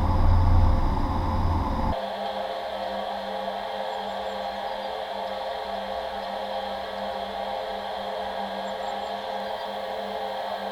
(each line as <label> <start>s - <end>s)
huge steel pipe 0.0s - 2.0s